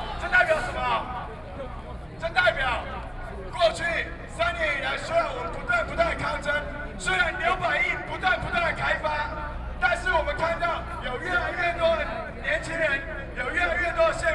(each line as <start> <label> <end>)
0.0 Protest 2.3